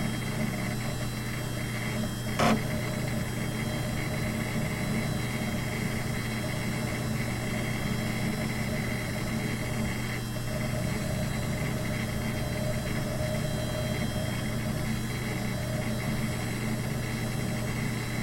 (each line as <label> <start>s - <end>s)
diskette drive 0.0s - 18.2s
fan 0.0s - 18.2s
hard drive noises 0.0s - 18.2s